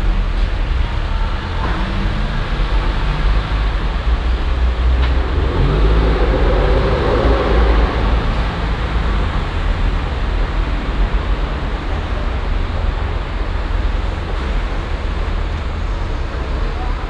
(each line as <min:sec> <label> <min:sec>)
0:00.0 motorenresonanzen 0:17.0